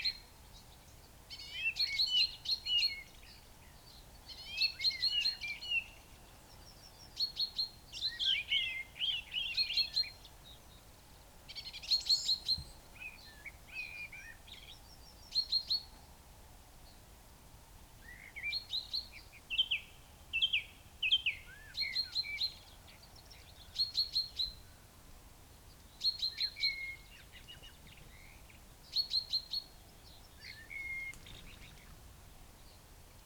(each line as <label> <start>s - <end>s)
Song thrush song 25.5s - 33.2s
blackbird 26.0s - 32.0s